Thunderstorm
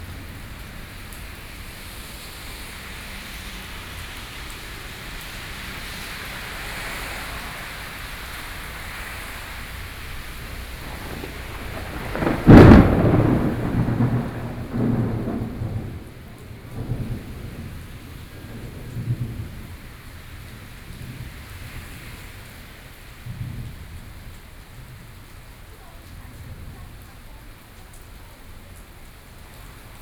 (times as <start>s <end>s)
0.0s 3.9s, 8.7s 27.2s